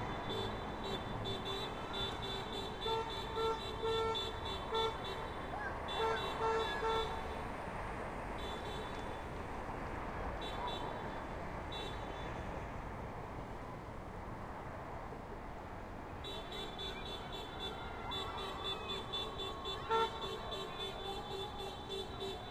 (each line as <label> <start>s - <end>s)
People honking incessantly 0.0s - 7.5s
People honking incessantly 8.3s - 9.1s
People honking incessantly 16.2s - 22.5s